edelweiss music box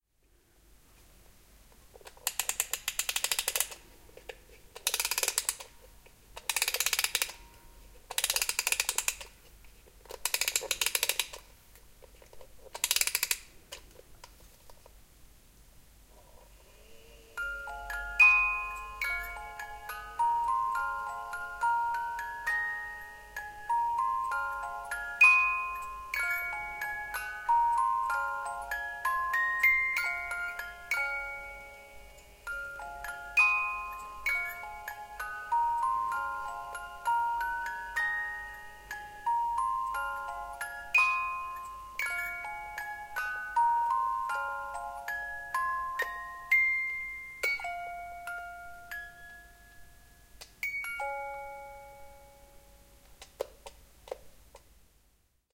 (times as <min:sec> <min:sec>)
0:02.2 0:03.8, 0:04.8 0:05.8, 0:06.4 0:09.3, 0:10.2 0:11.4, 0:17.0 0:53.0